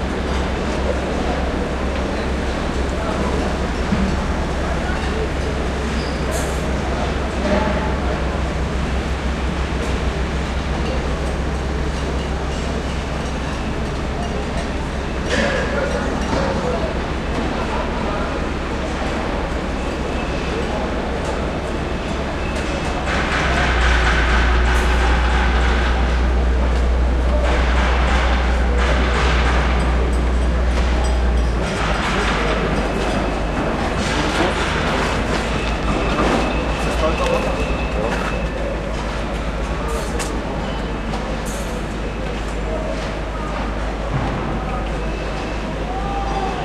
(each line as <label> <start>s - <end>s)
machinery 0.0s - 46.6s